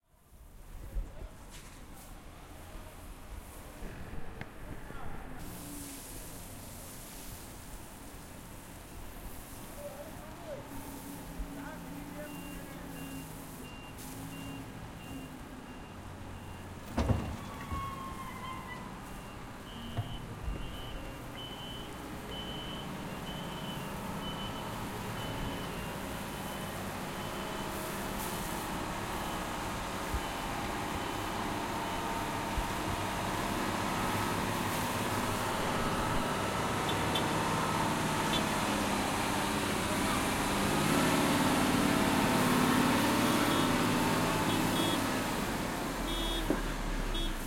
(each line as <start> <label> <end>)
0.0 Construction Site 47.4
0.0 Truck 47.4
9.3 workers voices 15.4